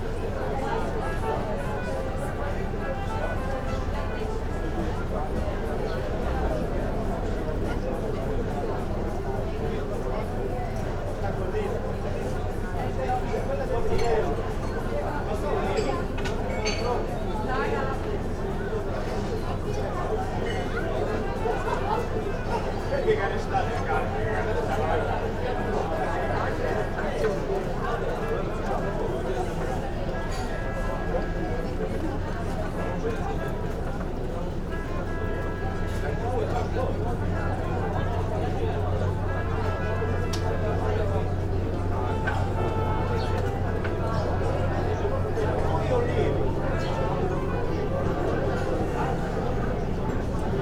murmur of people at the cafe and restaurant 0.0 - 50.6
trumpet comes from one of the sealing boats 29.4 - 50.6

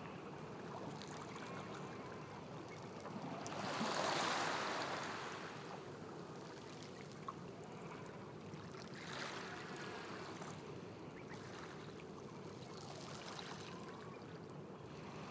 Small waves by the sea 0.0 - 15.3

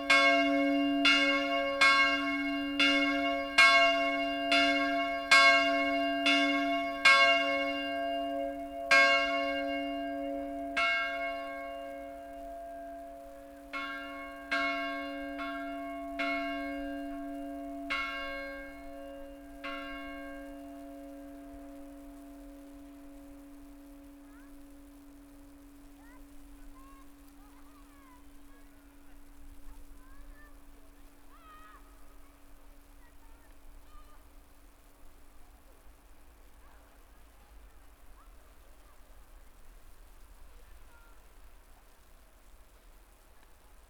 Church bells 0.0 - 31.2
Snow falls on my umbrella 21.8 - 43.8

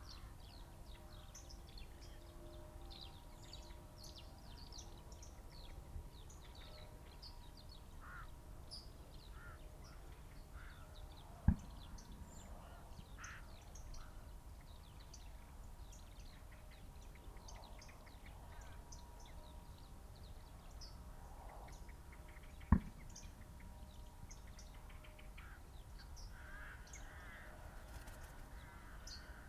background noise 0.0 - 29.4
crow 8.0 - 8.4
blackbird 8.0 - 19.4
crow 9.3 - 10.0
crow 10.6 - 11.6
crow 12.6 - 14.3
blackbird 20.3 - 29.4
crow 25.4 - 25.7
crow 26.3 - 29.4

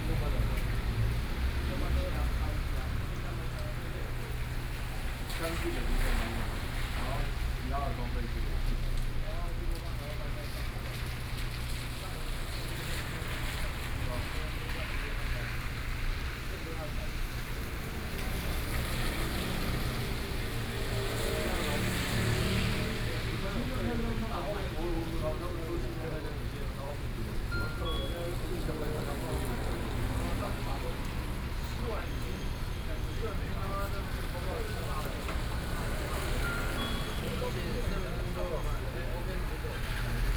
Rainy Day 0.0 - 40.3
Voice traffic on the street 0.0 - 40.3

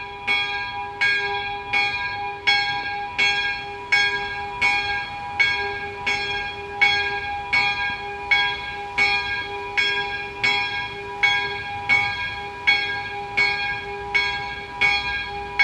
bells 0.0 - 15.6

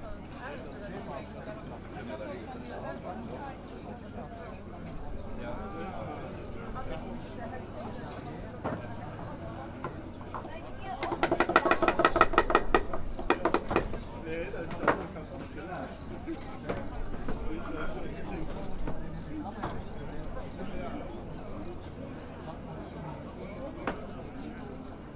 handcrafted building of bird breeding boxes 7.9 - 20.0

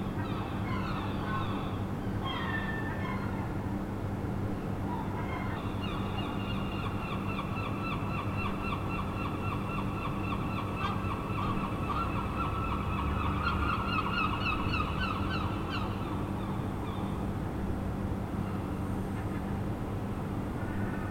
Seagulls 0.1 - 3.6
Seagulls 4.8 - 17.1

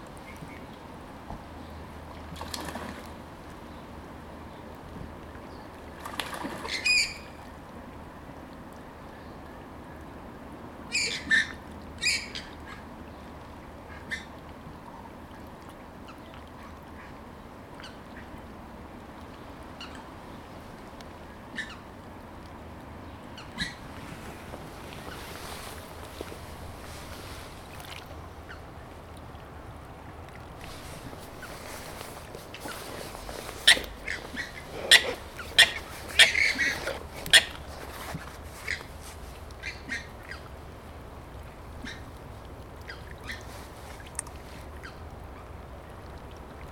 waterfowl 13.9 - 14.3
waterfowl 21.5 - 21.8
waterfowl 32.6 - 37.6
waterfowl 39.6 - 40.5

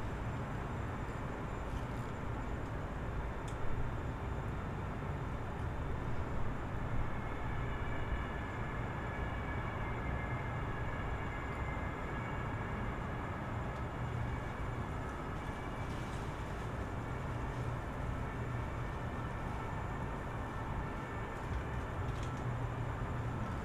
sirens 6.7 - 23.6

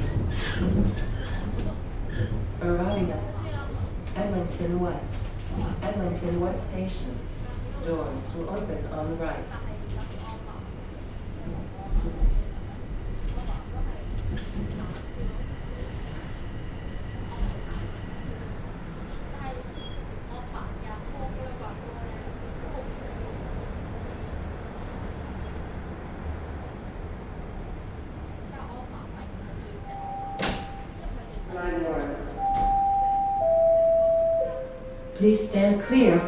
Echoing announcement of delays on TTC subway 1.7 - 24.1
Echoing announcement of delays on TTC subway 27.4 - 36.2

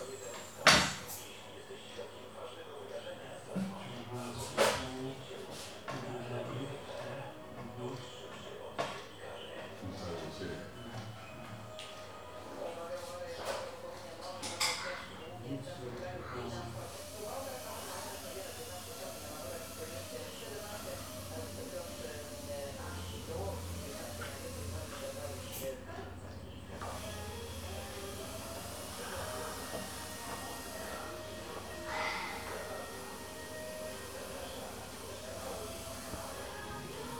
conversation with the patient 0.0 - 37.1
stream of popular radios station 26.8 - 37.1

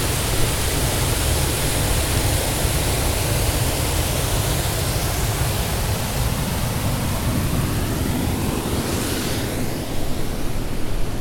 waterfall 0.0 - 8.8

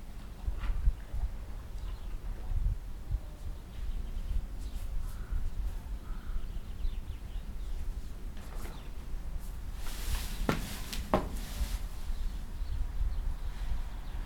horses scratching each others back with their teeth 8.4 - 12.4

